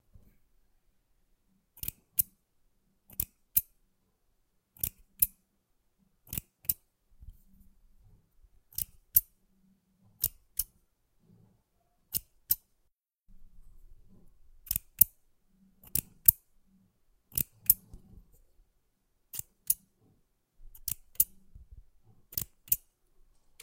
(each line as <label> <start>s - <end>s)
Scissor/Snips Cutting 6.3s - 6.8s